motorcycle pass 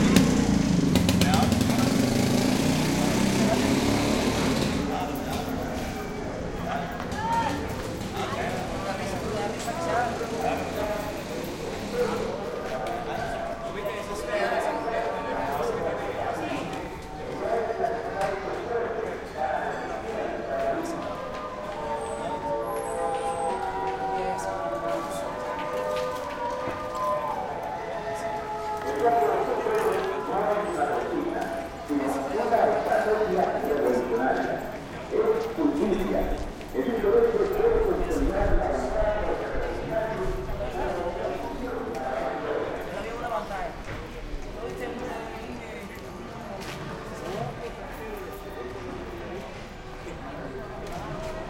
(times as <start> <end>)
0.0 5.2